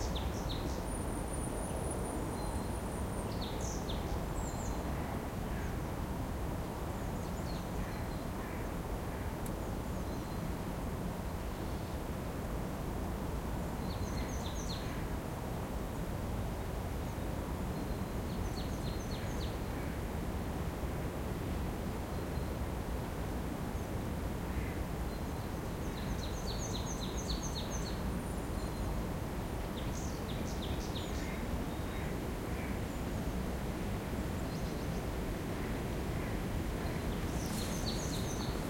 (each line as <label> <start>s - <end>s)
birdsong 13.8s - 15.1s
birdsong 34.1s - 38.6s